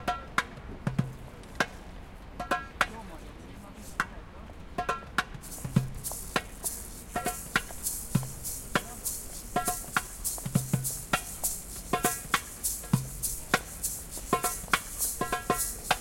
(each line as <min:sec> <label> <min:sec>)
0:04.8 bongo 0:16.0
0:05.5 didgeridoo 0:16.0